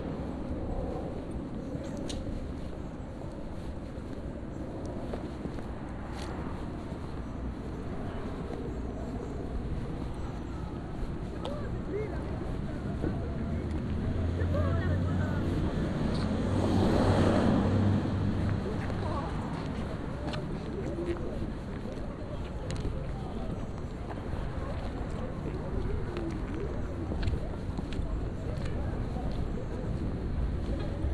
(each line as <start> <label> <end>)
6.3 dialogues 31.1